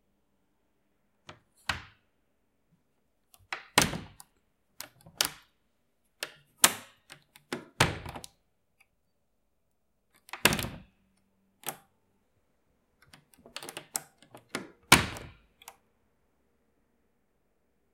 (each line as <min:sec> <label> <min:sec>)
0:03.3 Open & Close Lock 0:05.6
0:06.2 Open & Close Lock 0:08.4
0:10.2 Open & Close Lock 0:11.0
0:11.6 Open & Close Lock 0:11.9
0:13.0 Open & Close Lock 0:15.8
0:14.4 door 0:15.4